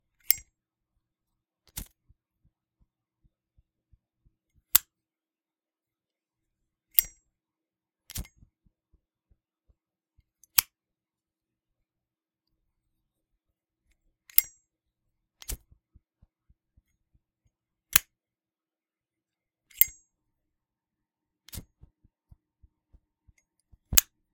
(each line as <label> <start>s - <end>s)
Zippo lighter opening, lighting, and then closing 0.2s - 0.5s
Zippo lighter opening, lighting, and then closing 6.9s - 7.2s
Zippo lighter opening, lighting, and then closing 8.1s - 8.4s
Zippo lighter opening, lighting, and then closing 10.4s - 10.8s
Zippo lighter opening, lighting, and then closing 14.3s - 14.6s
Zippo lighter opening, lighting, and then closing 15.4s - 15.7s
Zippo lighter opening, lighting, and then closing 17.9s - 18.1s
Zippo lighter opening, lighting, and then closing 19.7s - 20.0s
Zippo lighter opening, lighting, and then closing 21.5s - 21.8s
Zippo lighter opening, lighting, and then closing 23.9s - 24.2s